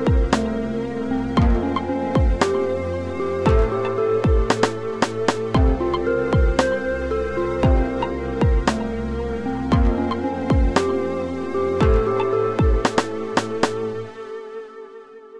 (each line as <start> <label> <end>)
0.0 Backgroundmusic 15.3